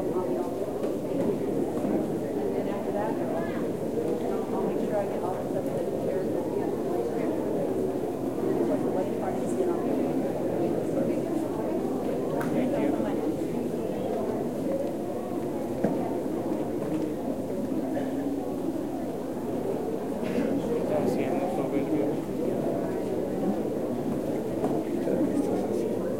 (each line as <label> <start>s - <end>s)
people in a church 0.0s - 26.1s